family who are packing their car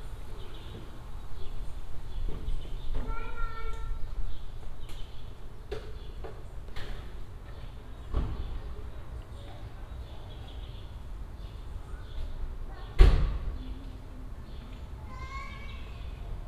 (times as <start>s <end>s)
2.1s 4.0s, 11.8s 16.1s